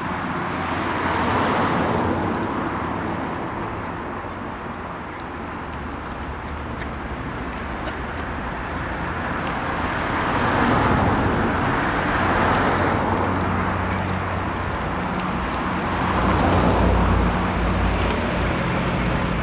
cars 0:00.0 - 0:19.4
Ducks eating in the water 0:00.2 - 0:19.4

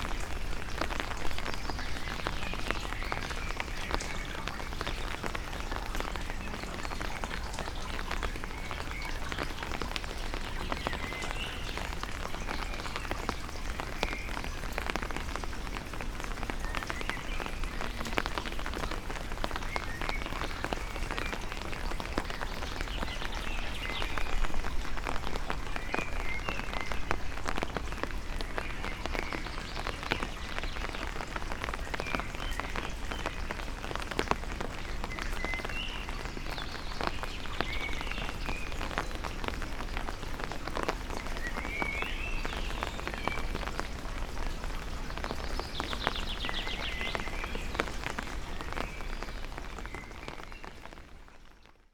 raindrops 0:00.0 - 0:51.9

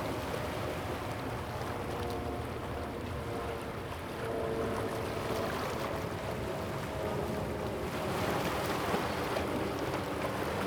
waves 0:02.0 - 0:10.6

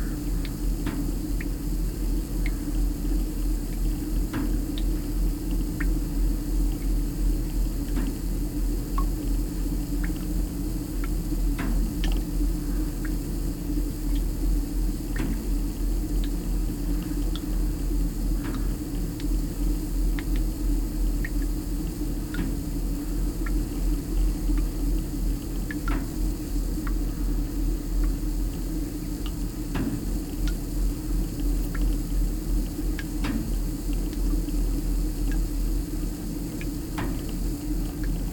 leaky connection with spray & drip 0:08.9 - 0:38.3

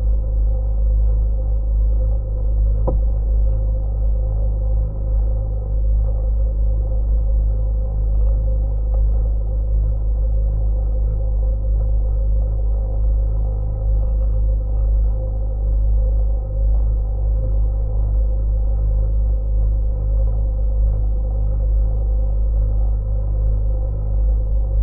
motor boat vibration 0:02.5 - 0:10.0

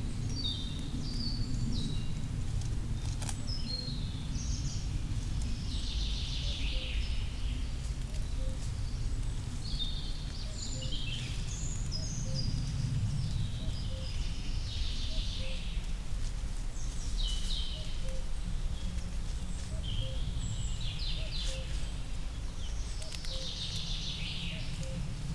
Birds 0:00.0 - 0:25.3

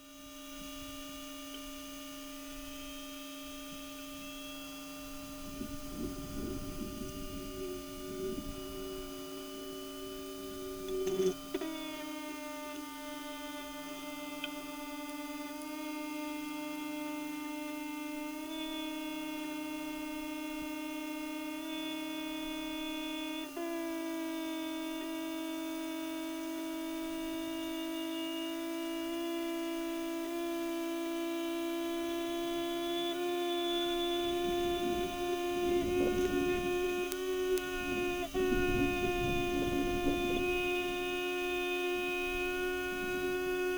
displaying hoverfly 0:00.0 - 0:43.7
Sound inside the rail 0:32.5 - 0:43.7

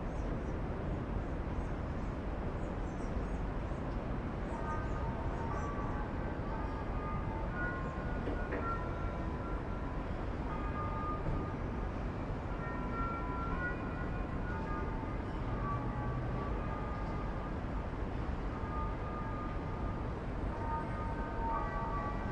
wind in the cathedral tower 0:00.0 - 0:22.3

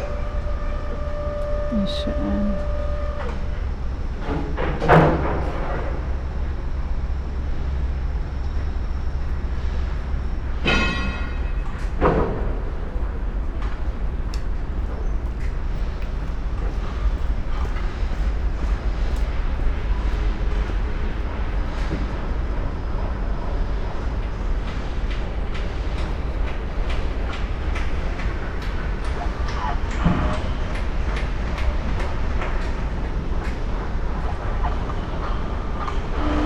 construction works 0:00.0 - 0:36.4
spoken words 0:01.7 - 0:02.6

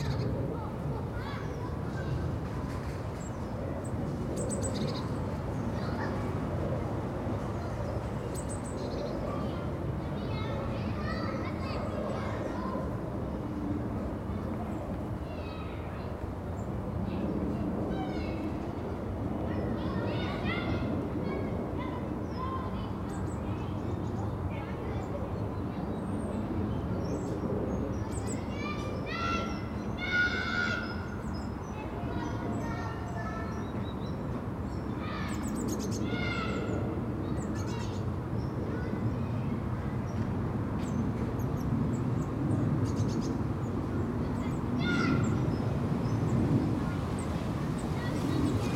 playtime at the nearby school 0:00.0 - 0:48.7
people pass 0:43.7 - 0:48.7

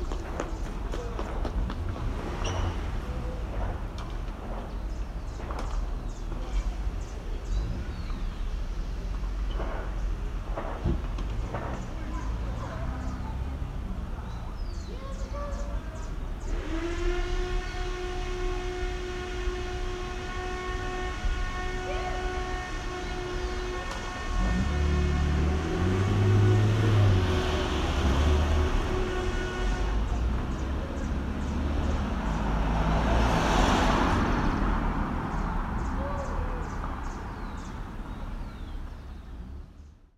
cars 0:00.0 - 0:40.1
birds 0:02.4 - 0:10.2
birds 0:11.4 - 0:16.7
birds 0:35.2 - 0:40.1

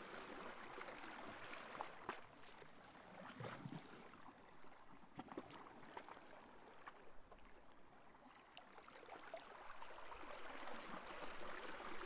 Quiet ocean water 0:00.0 - 0:12.0

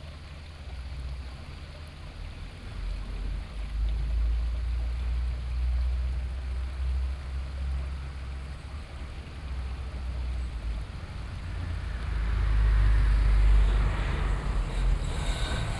stream 0:00.0 - 0:15.7
truck 0:00.0 - 0:15.7
Traffic sound 0:07.9 - 0:15.7
Construction sound 0:13.7 - 0:15.7

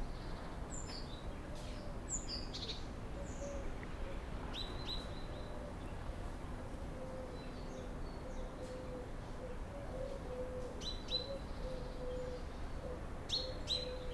morning voices birds 0:05.0 - 0:14.1

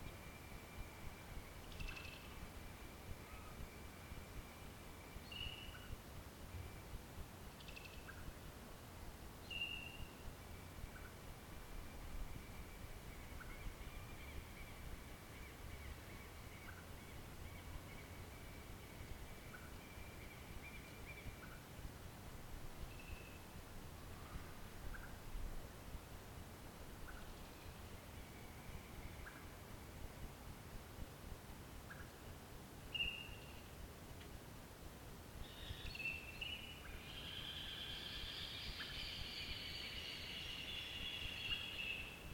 birds 0:00.0 - 0:08.5
mud birds 0:00.0 - 0:08.7
mud birds 0:09.4 - 0:22.0
mud birds 0:26.9 - 0:30.4
birds 0:27.0 - 0:30.2
birds 0:35.4 - 0:42.3

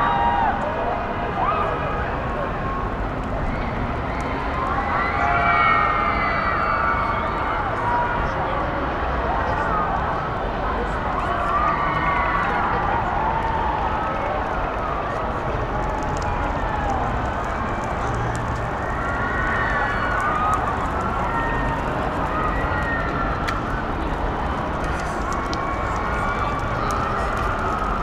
distant christmas fun fair 0:00.0 - 0:28.0

